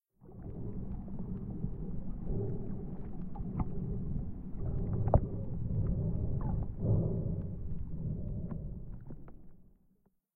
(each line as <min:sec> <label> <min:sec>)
0:00.3 Under Water Breathing 0:09.4